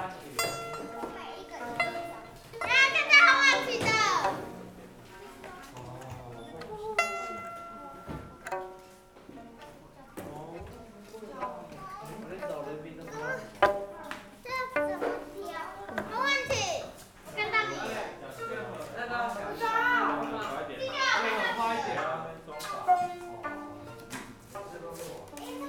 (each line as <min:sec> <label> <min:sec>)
0:00.1 violin tuning 0:25.6